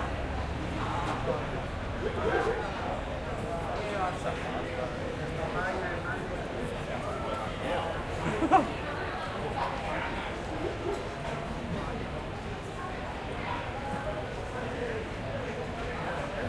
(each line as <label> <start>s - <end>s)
chatter 0.0s - 16.4s